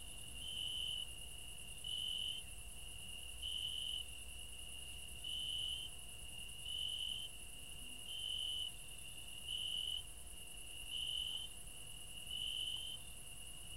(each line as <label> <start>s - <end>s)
cricket 0.0s - 13.7s